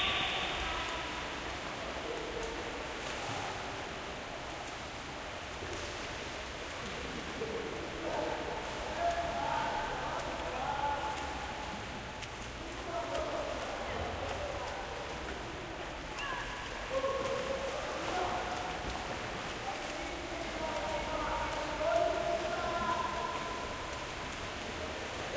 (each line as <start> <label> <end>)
0.0 splashing 25.3
0.0 swimming 25.3